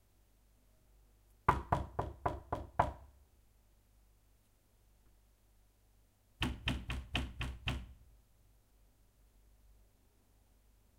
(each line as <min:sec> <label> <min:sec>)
0:01.5 Knock Door 0:03.1
0:06.4 Knock Door 0:08.0